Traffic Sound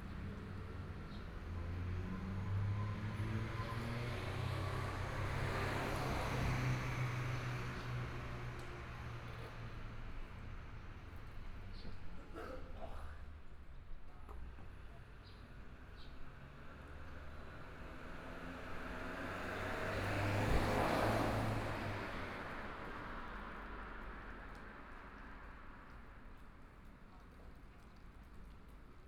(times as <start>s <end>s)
15.7s 26.8s